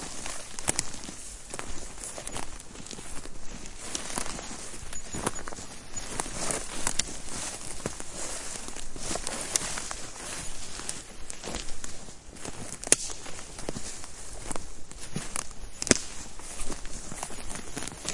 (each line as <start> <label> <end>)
0.0 walk 18.1
0.1 birds 9.4
16.9 birds 18.1